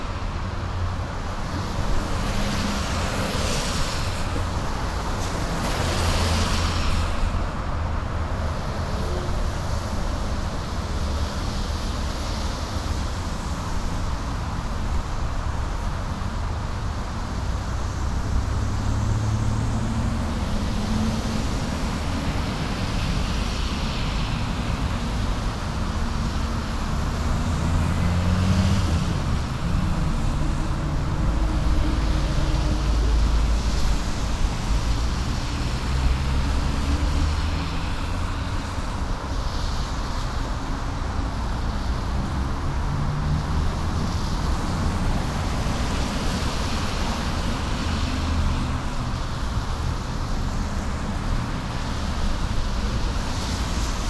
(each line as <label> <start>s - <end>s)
traffic blvd wet 0.0s - 54.0s